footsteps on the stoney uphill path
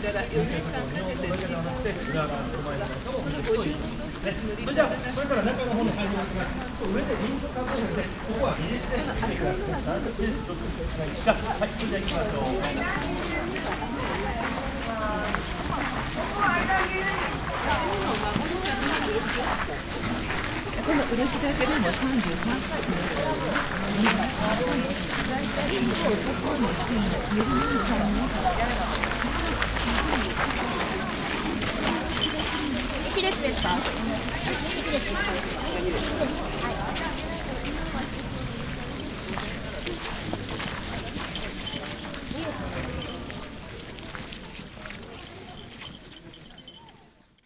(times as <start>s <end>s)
12.0s 47.4s